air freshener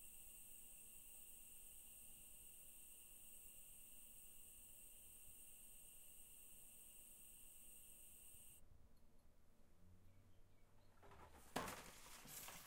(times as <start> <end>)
0.0 8.6